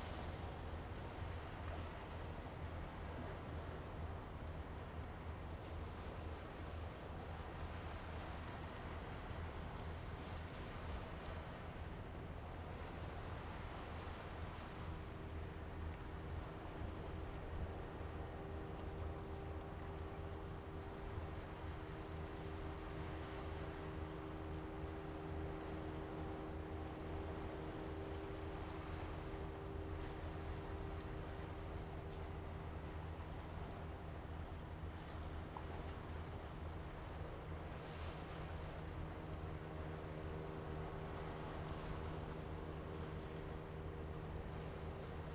Fishing boats in the distance 0.0 - 45.3
waves 0.0 - 45.3

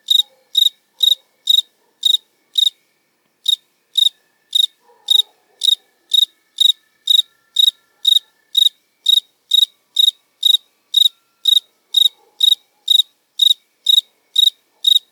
Cricket singing 0.0 - 15.1
light music 0.1 - 14.9
dogs 0.2 - 2.0
dogs 4.8 - 6.1
dogs 12.1 - 12.9

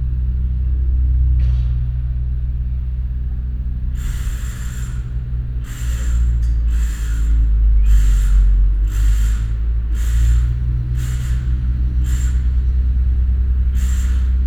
excavator in operation 3.6 - 14.4
drilling 3.9 - 14.4

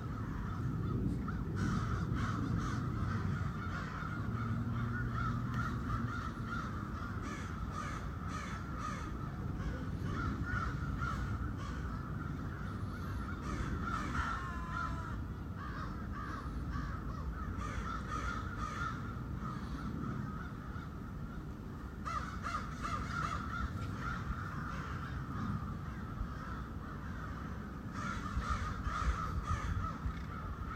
crows 0.0 - 30.7

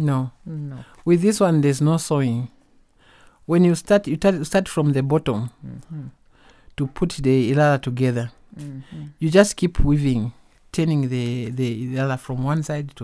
Talking 0.0 - 1.7
Talking 3.8 - 6.2
Talking 6.8 - 10.2

